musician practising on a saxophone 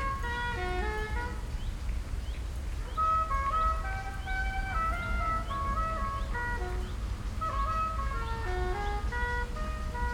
6.5 10.1

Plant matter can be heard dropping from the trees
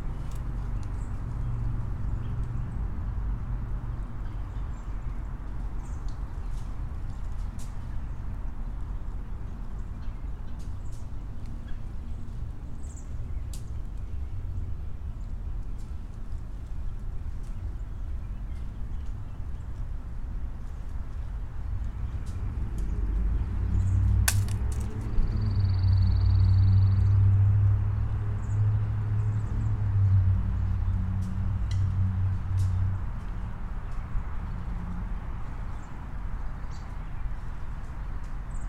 24.2 25.2

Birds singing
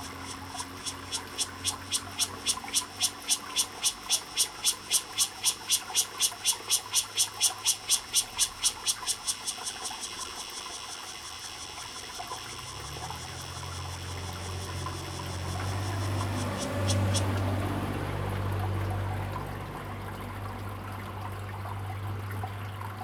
0.0 11.4, 12.7 17.8

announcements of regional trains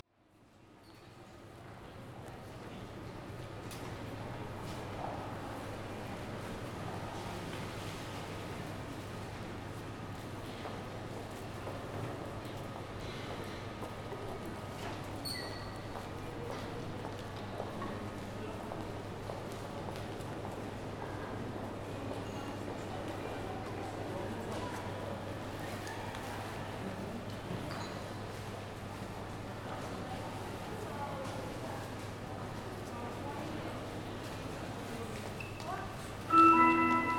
36.1 37.1

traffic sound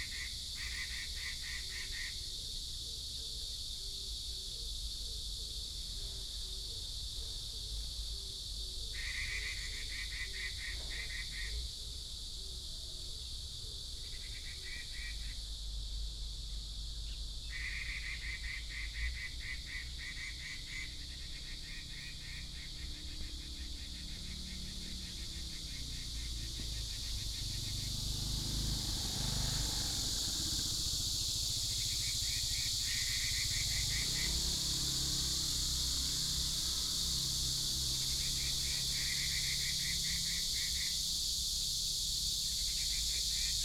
20.9 43.6

